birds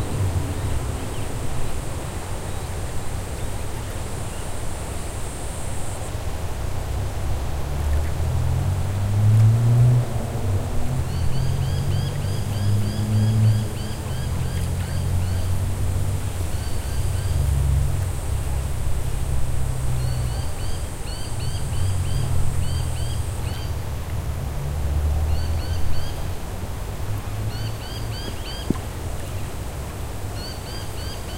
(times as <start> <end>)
27.2 29.6, 30.3 31.3